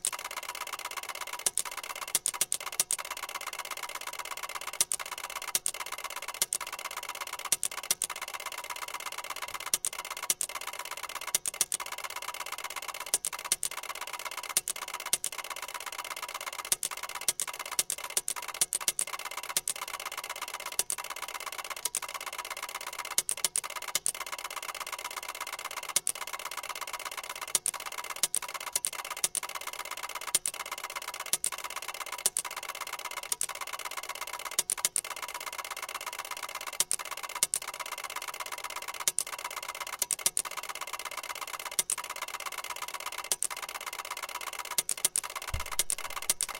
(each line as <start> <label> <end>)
0.0 Ticker Tape Machine 46.5